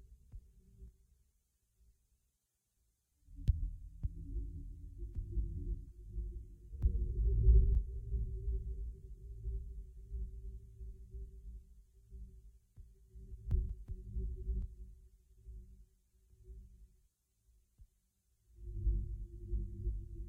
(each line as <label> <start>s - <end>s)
bass 3.3s - 16.9s
bass 18.5s - 20.2s